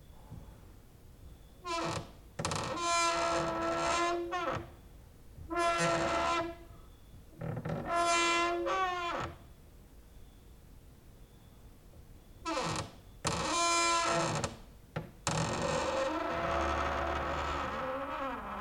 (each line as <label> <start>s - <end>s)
creaking with wooden doors 1.6s - 4.8s
creaking with wooden doors 5.5s - 9.4s
cricket outside 9.4s - 10.6s
cricket outside 11.2s - 17.6s
creaking with wooden doors 12.4s - 18.6s